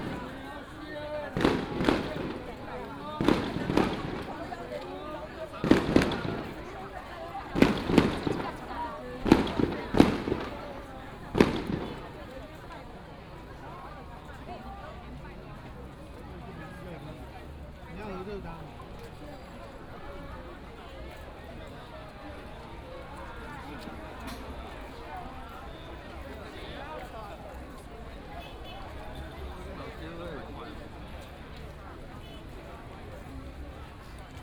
fireworks 0.0 - 13.0
Firecrackers 0.0 - 13.2
Many people gathered in the street 0.0 - 34.4

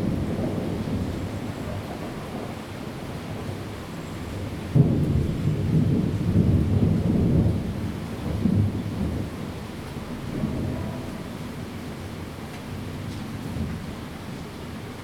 thunder 4.7 - 11.8

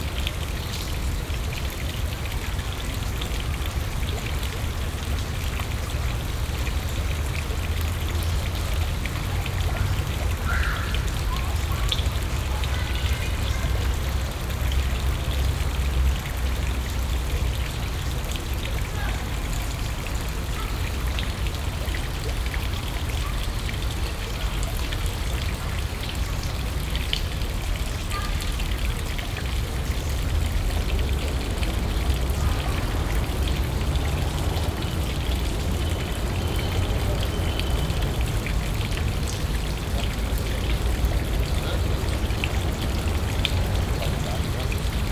fountain 0.0 - 45.1

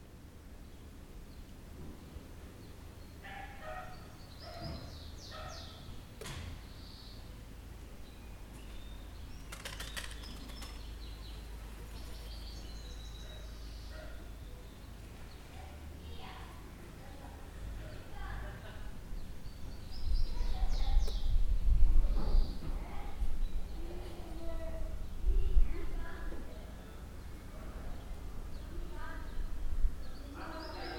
Birds tweeting 0.0 - 30.9
dog is barking 3.2 - 5.8
People chatting in the background 11.7 - 30.9

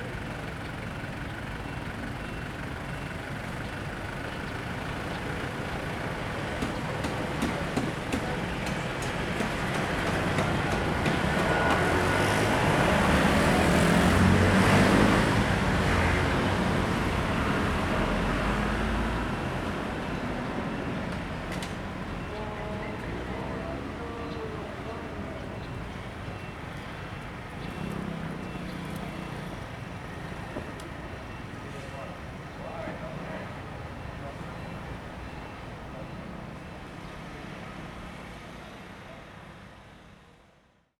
Traffic Noise 0.0 - 40.9

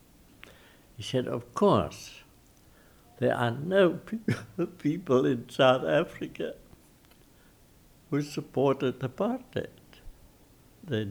freedom fighter talks 3.2 - 6.6
freedom fighter talks 8.1 - 9.8

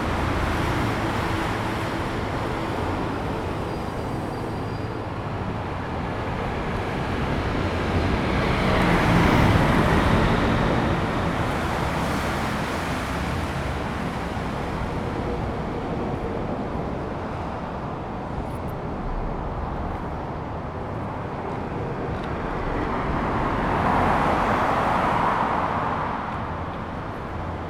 Traffic sound 0.0 - 27.6

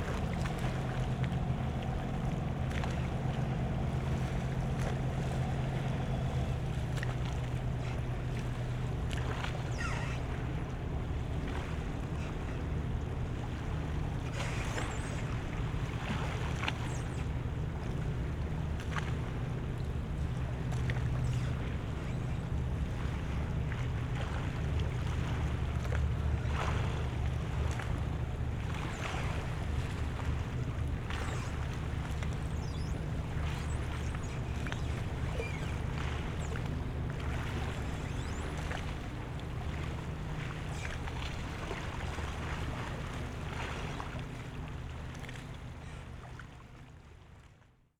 light waves 0.0 - 47.6
drone of a boat leaving the harbour 0.0 - 47.6
gear squeeking 9.5 - 10.7
gear squeeking 14.3 - 15.3
gear squeeking 31.1 - 39.0

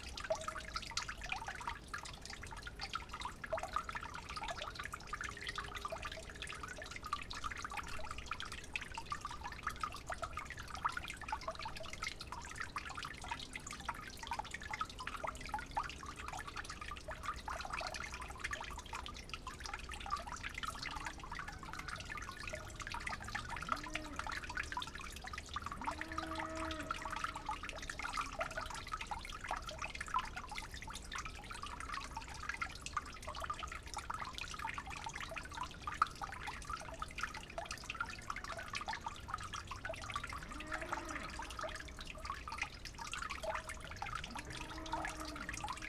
dripping tube 0.0 - 45.8

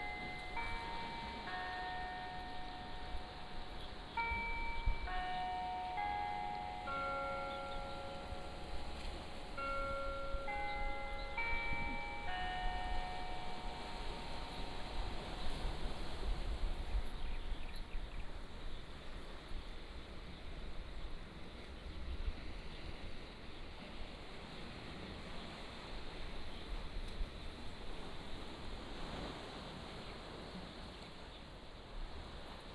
Birds singing 0.0 - 15.7
waves 0.0 - 32.7

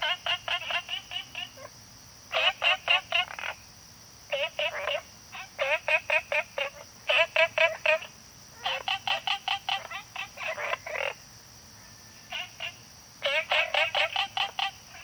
Frogs chirping 0.0 - 15.0

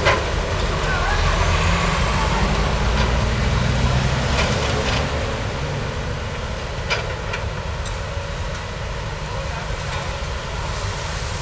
construction site 0.0 - 11.4

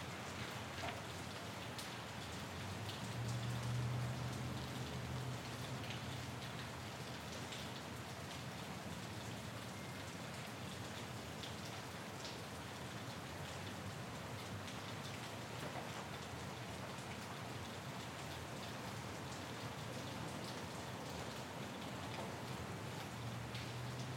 rain 0.0 - 24.1

